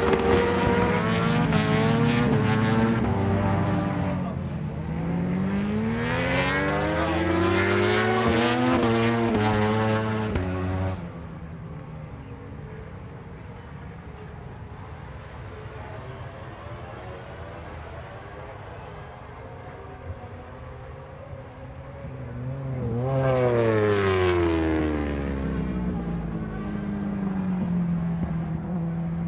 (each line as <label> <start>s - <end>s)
planes flying 11.0s - 29.2s